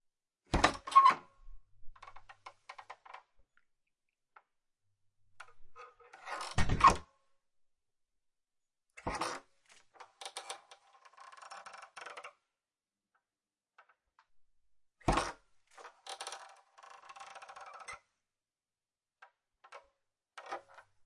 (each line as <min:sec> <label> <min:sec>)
0:05.5 Creaky wooden door handle (open & close) 0:07.1
0:10.0 Creaky wooden door handle (open & close) 0:12.3
0:15.0 Creaky wooden door handle (open & close) 0:18.0